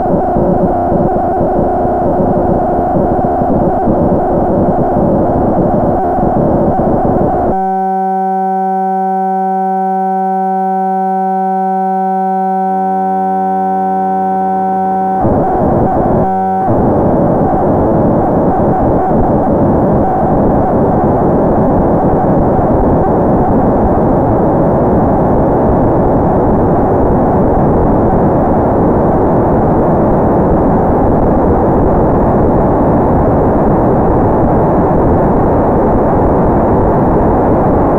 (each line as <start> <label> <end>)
0.0 2 oscillators cross-modulate each other 37.9